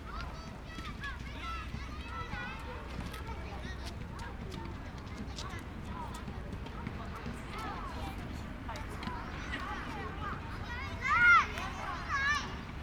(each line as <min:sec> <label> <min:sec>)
0:00.0 Students are playing basketball 0:12.8